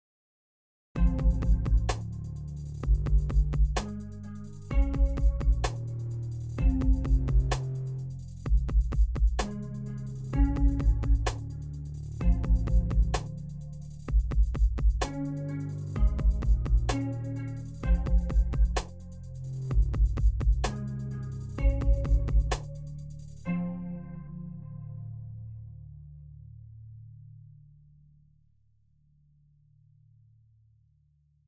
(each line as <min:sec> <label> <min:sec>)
0:01.0 music 0:28.5